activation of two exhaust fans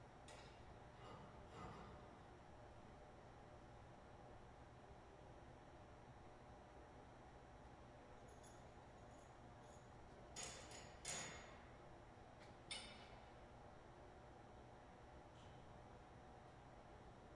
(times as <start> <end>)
0.0 2.6, 9.6 13.6